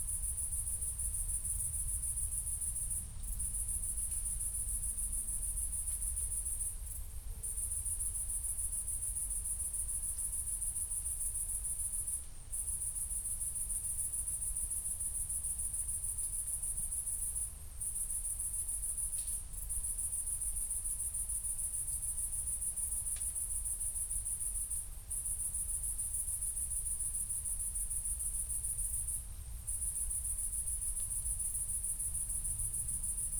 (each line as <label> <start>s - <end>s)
cricket 0.0s - 33.3s